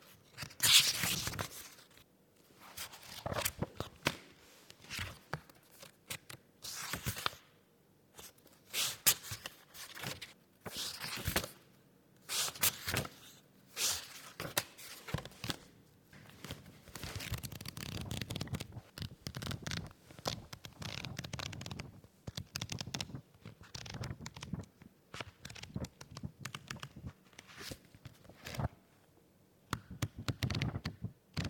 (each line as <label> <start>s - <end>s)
book browsing 16.2s - 28.7s
book browsing 29.7s - 31.4s